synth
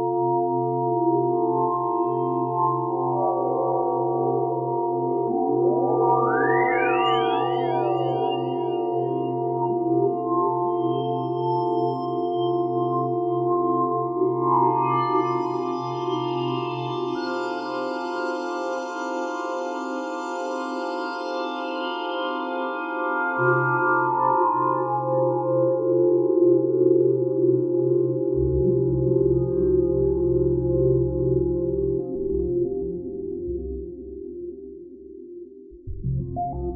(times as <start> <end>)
35.7 36.7